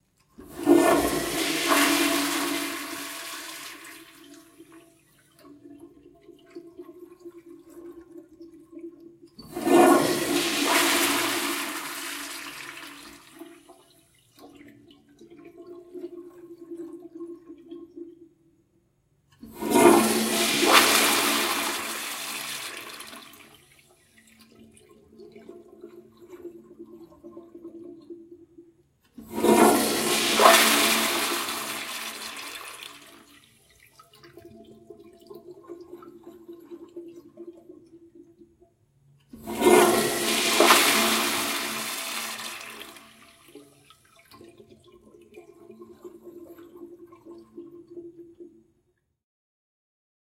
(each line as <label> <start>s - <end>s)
toilet flushing multiple times 0.1s - 18.6s
toilet flushing multiple times 19.2s - 48.9s